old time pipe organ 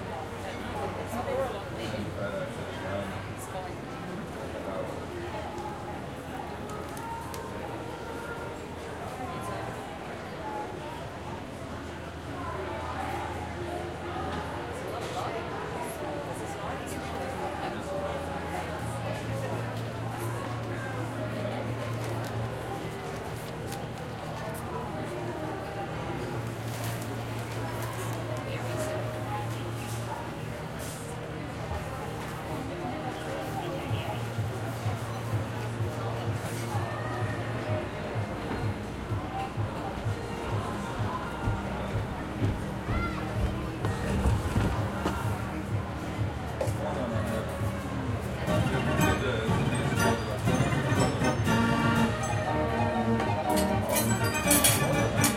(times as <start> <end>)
48.7 53.8